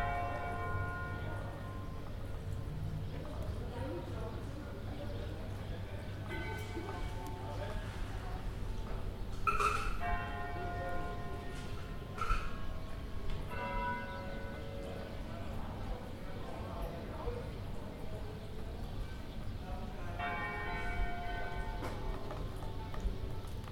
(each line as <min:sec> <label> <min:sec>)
0:00.0 Bells 0:02.8
0:06.2 Bells 0:08.5
0:09.4 Bells 0:17.0
0:20.0 Bells 0:23.6